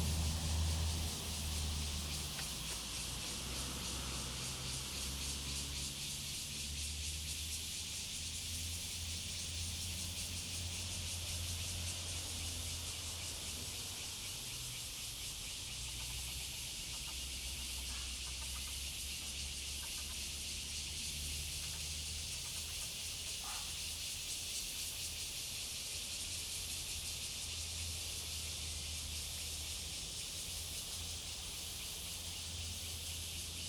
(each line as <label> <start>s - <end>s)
traffic sound 0.0s - 7.7s
Cicada sound 0.0s - 33.6s